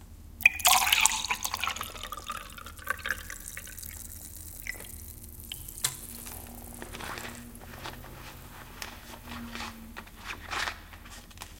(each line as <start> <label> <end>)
0.4 pouring a glass of water 8.9